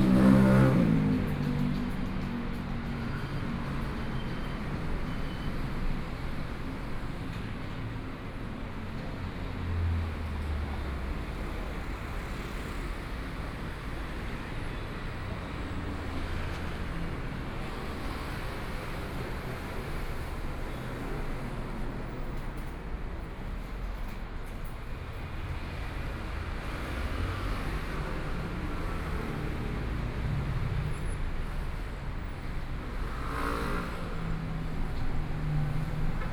0.0s Pedestrians 36.3s
0.0s Traffic Sound 36.3s

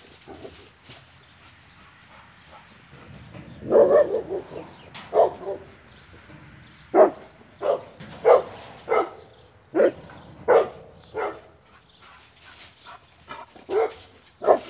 0.0s fenced dog 14.6s

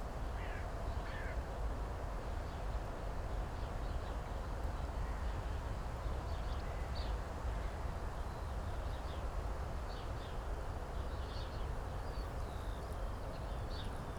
0.0s wind 14.1s

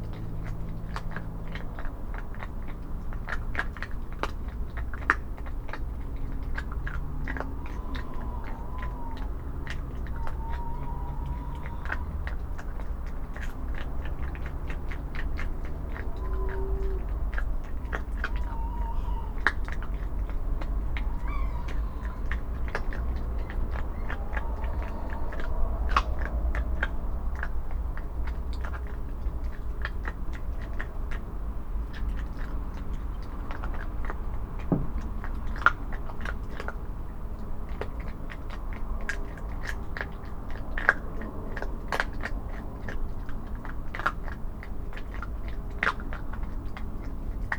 0.0s fox is munching bones 47.5s
7.3s Owls call 12.8s
15.9s Owls call 27.0s

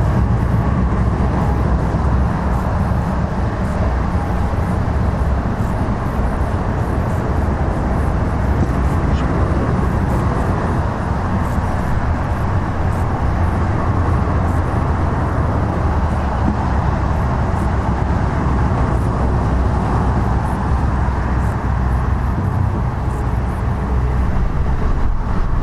0.0s motorway 25.6s

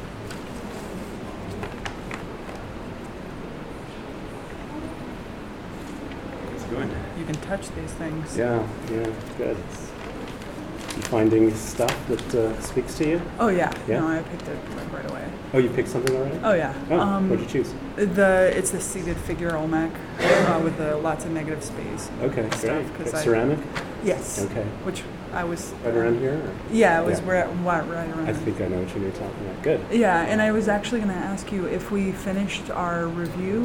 22.1s teacher speaking to a student 24.9s

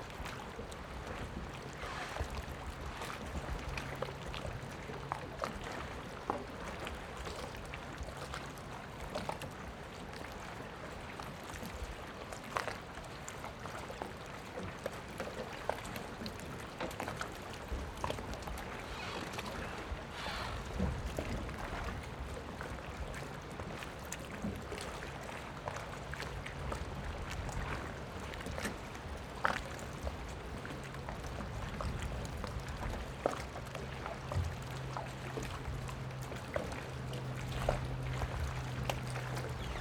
0.0s Waves and tides 8.0s
16.8s Waves and tides 39.8s

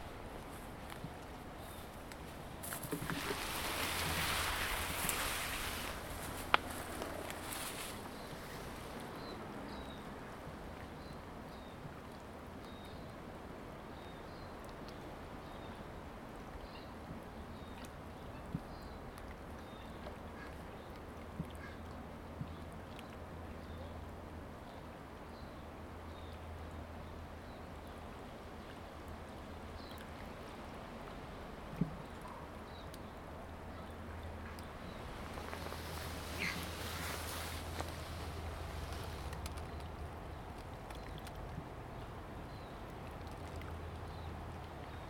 36.2s waterfowl 37.2s

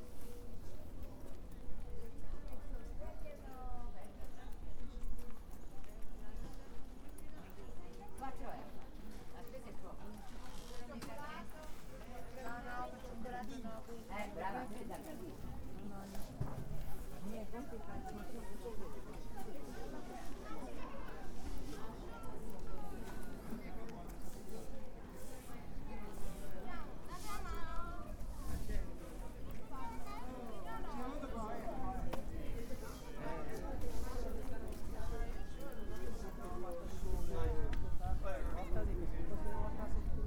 0.0s chinese vendors chatting 40.2s

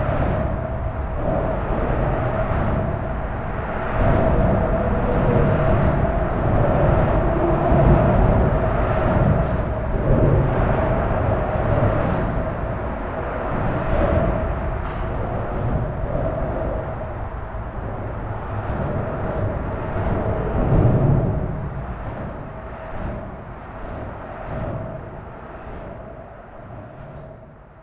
0.0s suburban train arrives at the station 27.8s

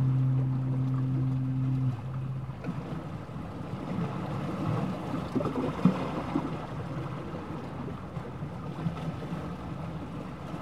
0.0s fog horn sounding at intervals 4.8s
0.0s Sea bubbles 10.6s
0.0s sound of the sea and waves 10.6s

